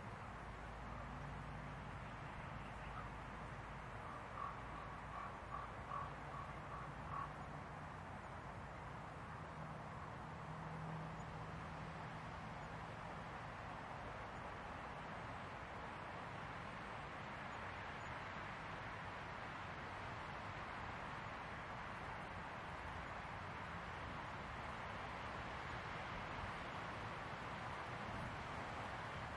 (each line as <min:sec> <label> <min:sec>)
0:00.0 Wind 0:29.3
0:04.1 crows 0:07.4